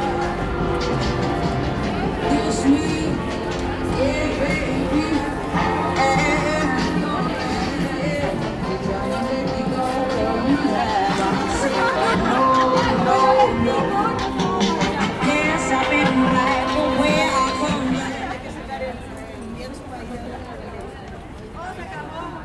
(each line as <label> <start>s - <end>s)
tránsito 0.0s - 18.8s